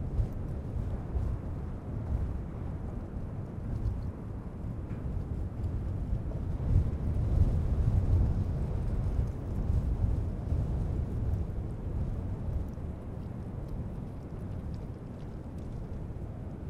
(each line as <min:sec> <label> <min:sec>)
0:00.0 wind 0:16.6